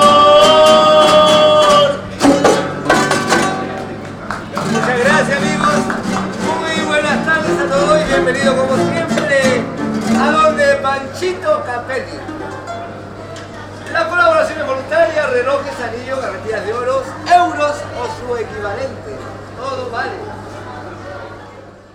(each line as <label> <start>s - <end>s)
trío 0.0s - 21.0s